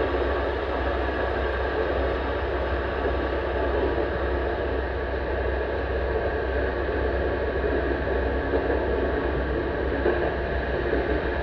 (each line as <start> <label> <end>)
0.0 Train 11.4